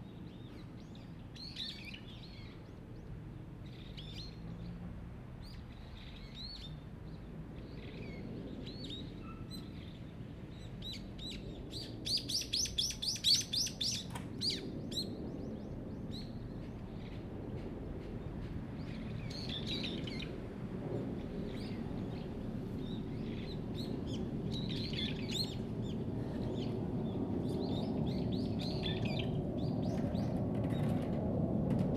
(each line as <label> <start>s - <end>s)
Birds singing 10.8s - 20.4s
Birds singing 21.4s - 30.9s